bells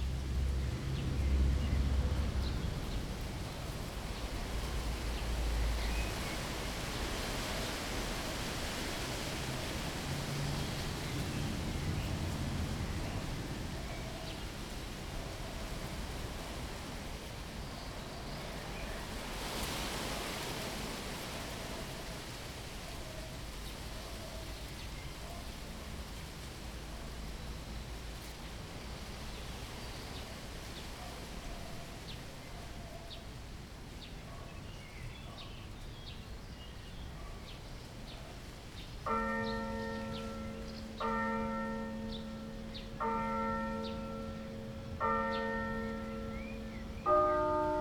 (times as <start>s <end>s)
39.1s 47.8s